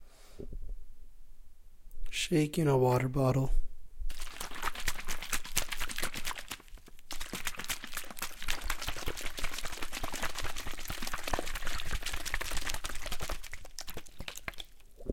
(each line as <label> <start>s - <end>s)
Shaking water bottle 4.1s - 15.1s